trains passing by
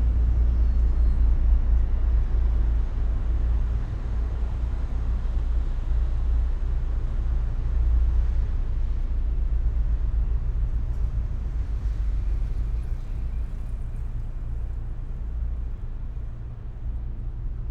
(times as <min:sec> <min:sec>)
0:09.9 0:17.7